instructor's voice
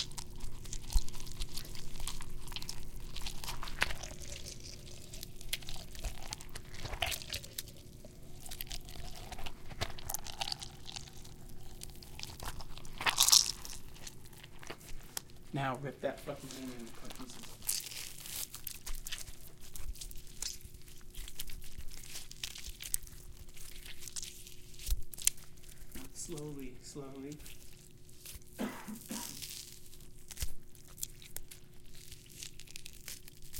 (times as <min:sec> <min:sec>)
0:15.5 0:17.4, 0:26.0 0:27.4